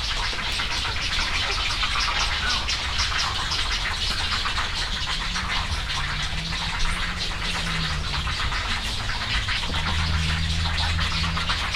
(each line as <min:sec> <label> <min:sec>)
0:00.3 cattle egrets 0:11.7